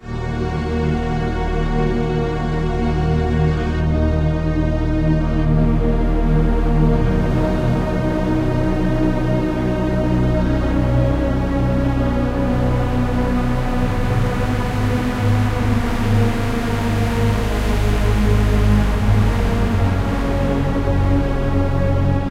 0.0s strings 22.3s

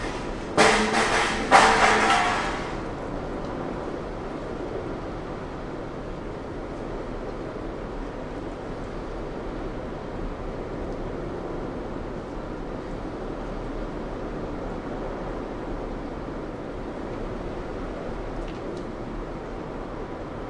0.0s storm 20.4s

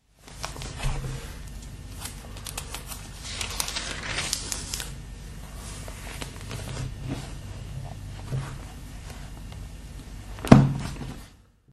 0.2s turning pages 7.4s

